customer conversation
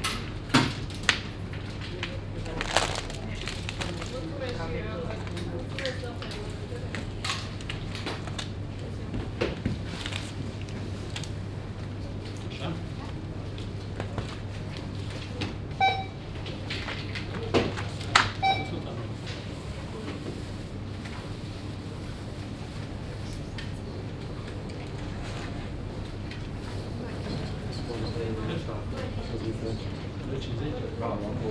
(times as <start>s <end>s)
1.9s 7.4s